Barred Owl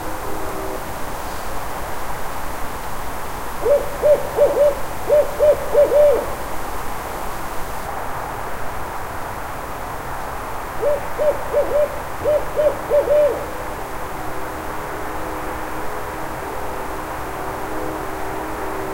3.6s 6.4s, 10.8s 13.6s

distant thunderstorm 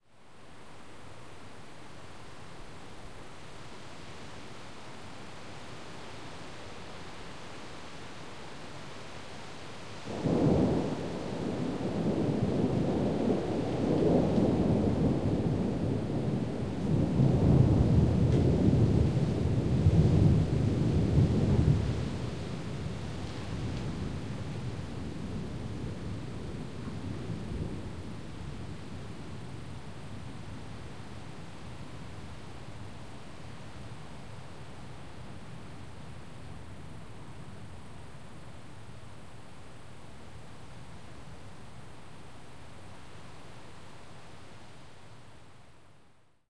10.1s 31.0s

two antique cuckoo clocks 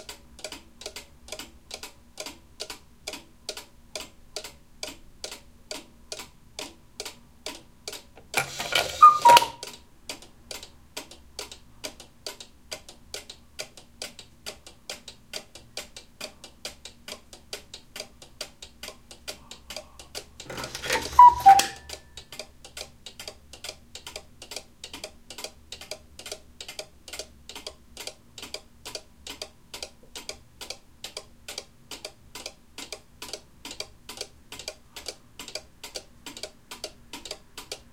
0.4s 10.6s, 18.0s 29.5s

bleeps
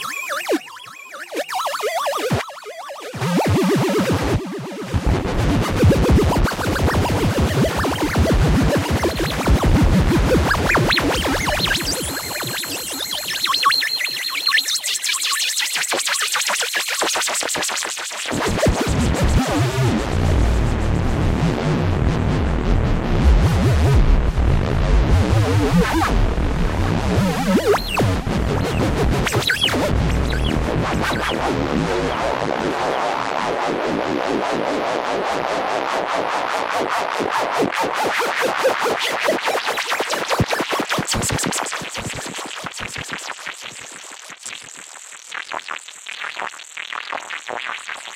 0.0s 4.0s, 6.0s 9.5s, 10.3s 15.6s, 27.2s 31.4s

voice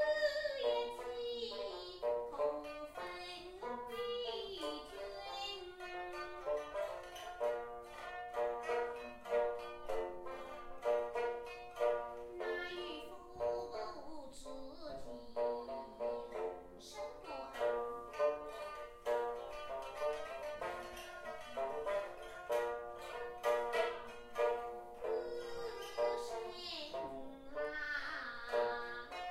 12.3s 17.6s, 25.0s 29.2s

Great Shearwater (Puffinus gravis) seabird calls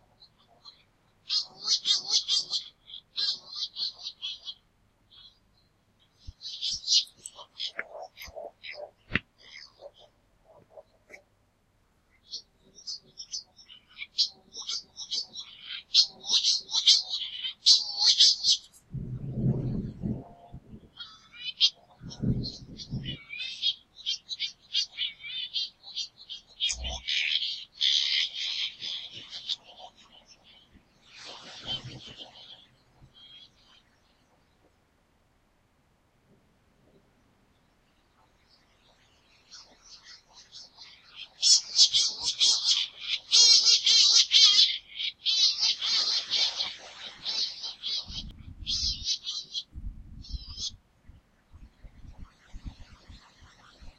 0.0s 5.4s, 6.4s 11.2s, 12.2s 18.7s, 20.1s 33.8s, 39.5s 50.8s

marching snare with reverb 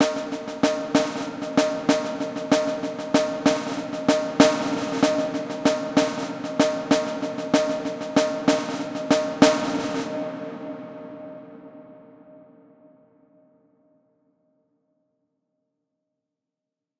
0.0s 11.9s

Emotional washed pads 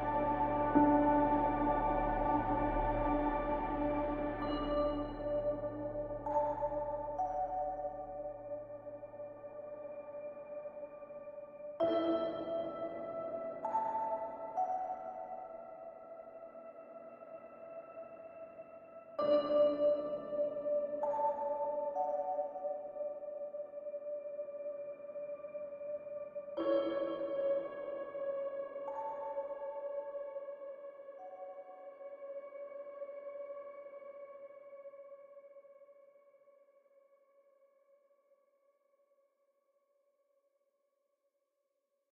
0.0s 8.3s

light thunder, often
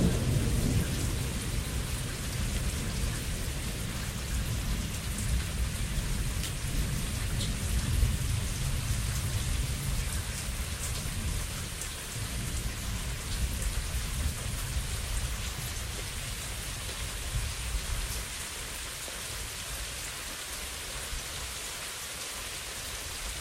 0.0s 18.2s

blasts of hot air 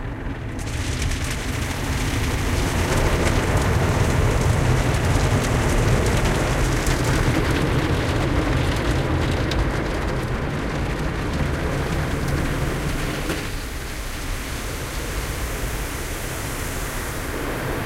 11.6s 17.8s

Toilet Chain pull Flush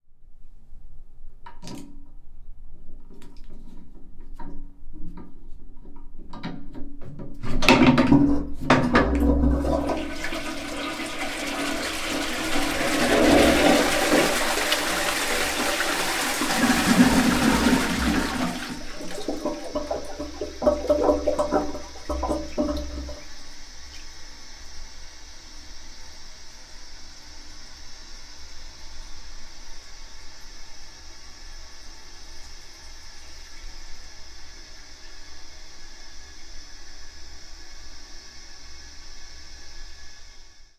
7.5s 23.3s

